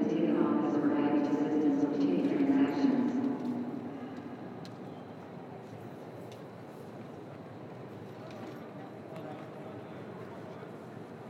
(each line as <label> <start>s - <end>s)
Boarding Announcements 0.0s - 4.4s